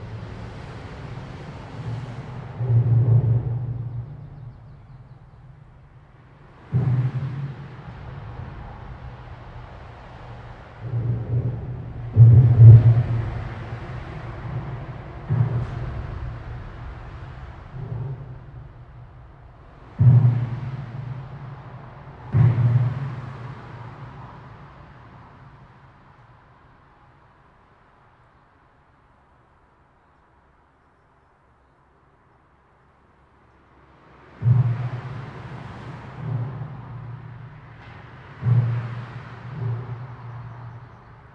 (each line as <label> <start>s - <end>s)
clonks and clanks of cars and trucks driving over the joint 0.0s - 41.3s
motorway noise reverberating in the underpass 0.0s - 41.3s